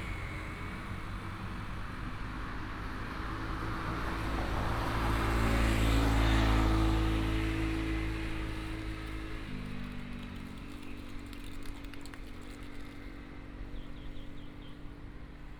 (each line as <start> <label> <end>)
0.0 Helicopter 7.2